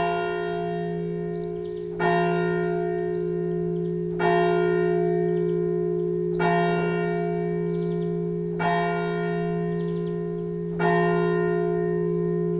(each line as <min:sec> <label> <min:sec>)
0:00.0 church ringing 0:12.5
0:00.4 bird song 0:04.1
0:05.2 bird song 0:10.7